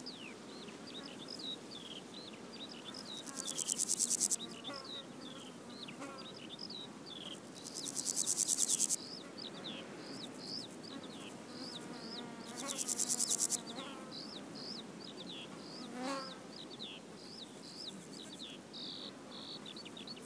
Bees 0:00.0 - 0:06.5
flies 0:01.0 - 0:05.5
Grasshoppers 0:03.0 - 0:04.6
Bees 0:07.1 - 0:14.4
Grasshoppers 0:07.2 - 0:09.0
flies 0:07.2 - 0:09.0
flies 0:10.0 - 0:13.9
Grasshoppers 0:12.5 - 0:13.7
Bees 0:17.2 - 0:18.6
flies 0:17.3 - 0:18.5
Grasshoppers 0:17.5 - 0:18.4

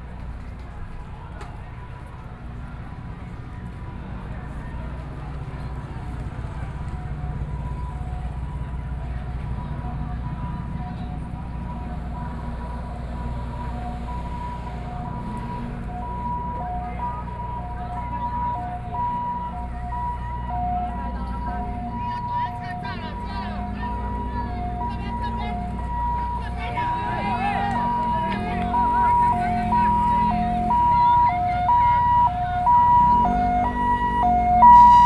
Students sit-in protest 0:14.7 - 0:35.0

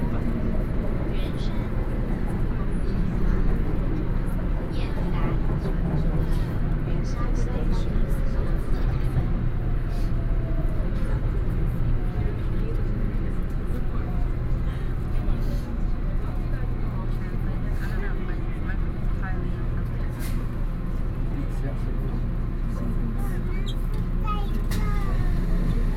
in the MRT train 0:00.0 - 0:25.9

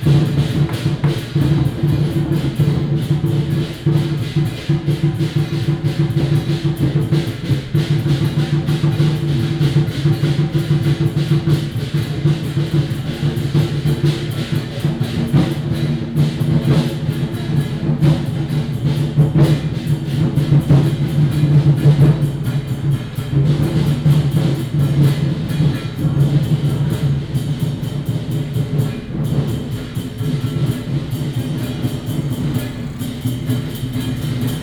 firecrackers 0:00.0 - 0:34.6

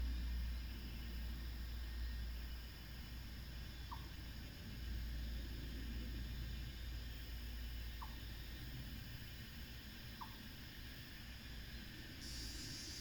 Cicada 0:00.0 - 0:13.0

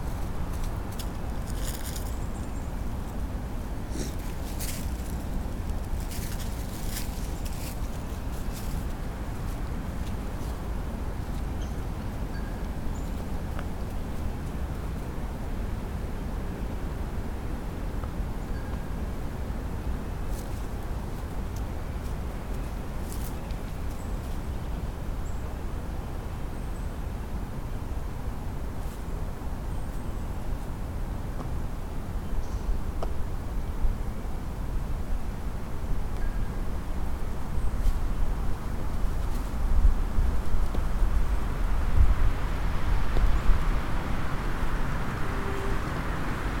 singing tree in heavy wind 0:00.0 - 0:46.6
puppy sniffling around 0:03.9 - 0:04.3
small bell or fence from a nearby house 0:12.3 - 0:12.7
small bell or fence from a nearby house 0:18.5 - 0:18.9

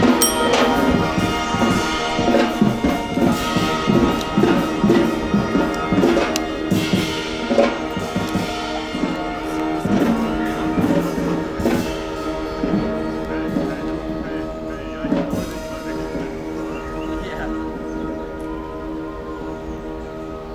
Musikminiaturen 0:00.0 - 0:20.5

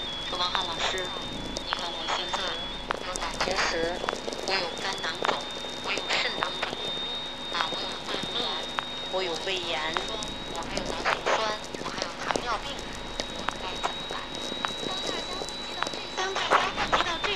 Very low frequency mix with sw radio 0:00.0 - 0:17.3

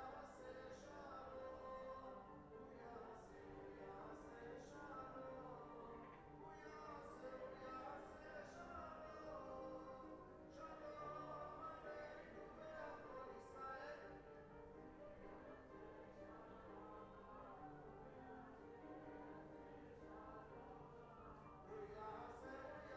people are singing some songs 0:00.0 - 0:22.9

